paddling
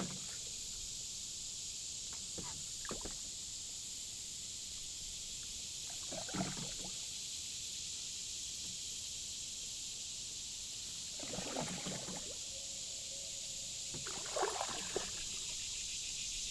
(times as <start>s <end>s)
11.2s 12.4s, 13.9s 15.6s